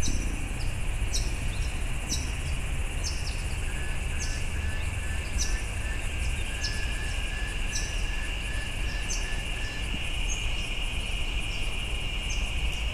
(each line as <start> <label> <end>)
0.0 country town ambient noise 12.9
0.0 hum mixture of bees in trees 12.9
0.0 twittering bird noises of Blue Wrens 12.9
3.0 whispery shrill of cicadas 12.9